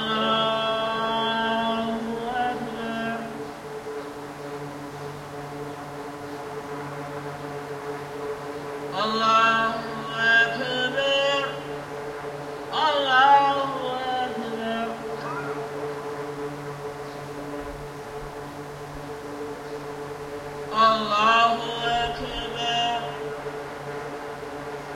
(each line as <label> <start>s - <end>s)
Muslim pray 0.0s - 3.7s
background drone sound was produced by an array of misting fans 0.0s - 24.9s
Muslim pray 8.9s - 12.0s
Muslim pray 12.6s - 16.2s
Muslim pray 20.7s - 23.4s